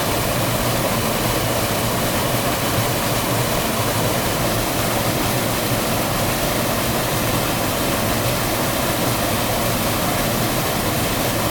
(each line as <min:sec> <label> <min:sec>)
0:00.0 small waterfall 0:11.5